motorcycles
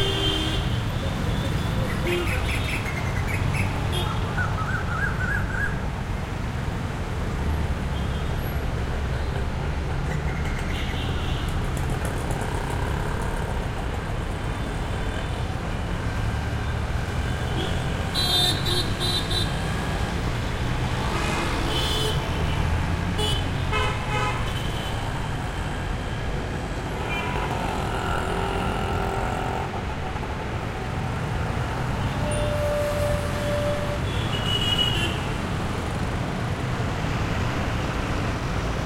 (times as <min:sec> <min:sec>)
0:08.8 0:32.8